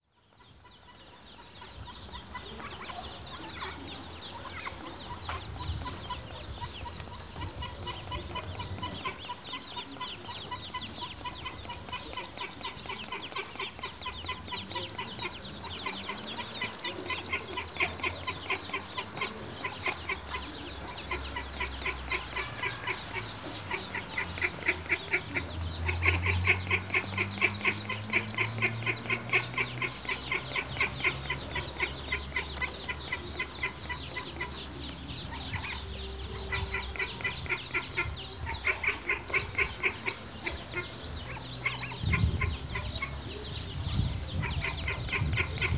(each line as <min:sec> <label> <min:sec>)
0:00.2 ducklings 0:45.7